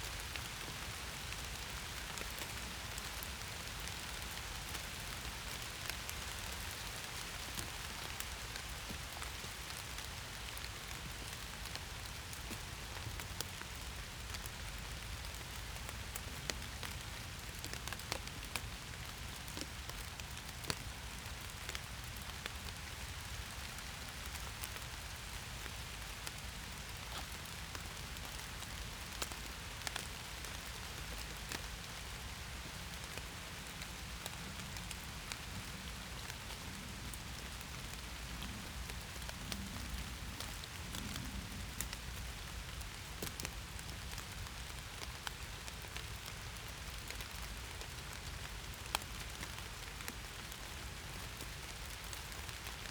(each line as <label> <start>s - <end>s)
rain and wind on oak and birch leaves 0.0s - 52.9s